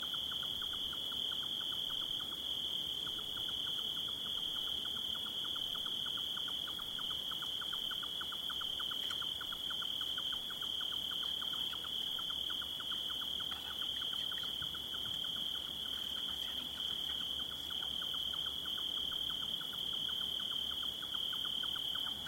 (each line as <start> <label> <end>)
0.0 Cricket chorus 22.2